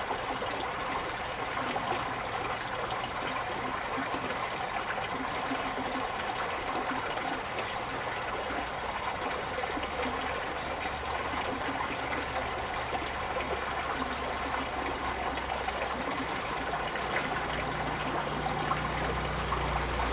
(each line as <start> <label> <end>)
7.5 Flow 20.1